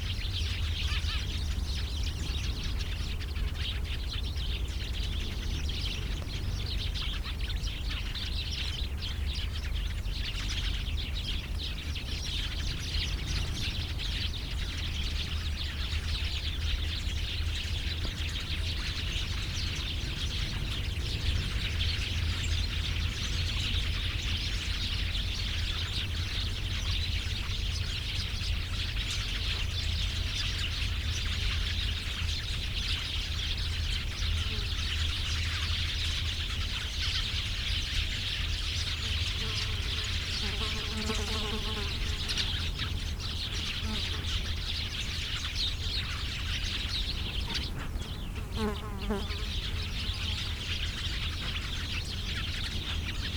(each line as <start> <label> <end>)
0.0 various birds 53.3